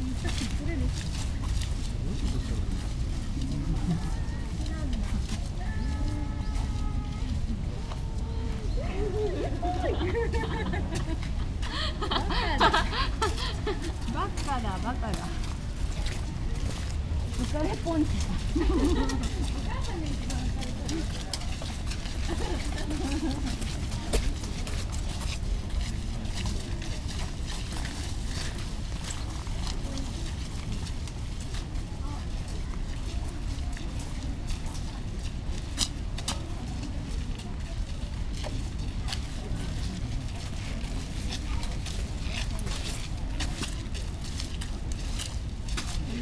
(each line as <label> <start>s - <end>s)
walkers 0.0s - 46.2s